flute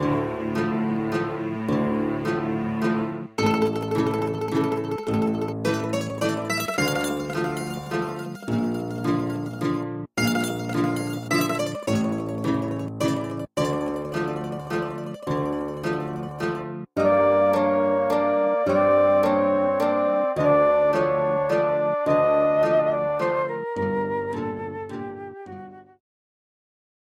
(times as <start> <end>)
17.0 26.0